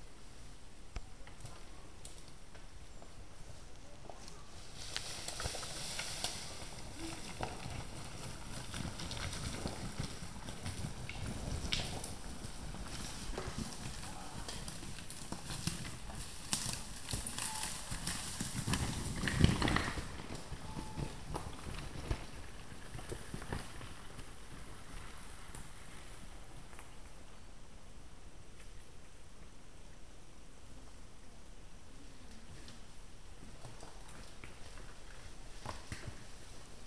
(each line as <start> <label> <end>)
4.9 Yamaha 430 going uphill 26.7